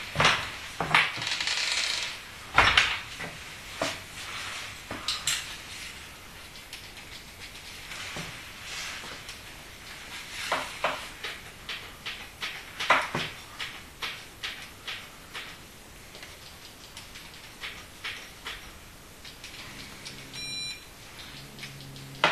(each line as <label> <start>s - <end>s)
opening the door 0.2s - 2.9s
printing the electricity bill 2.1s - 22.3s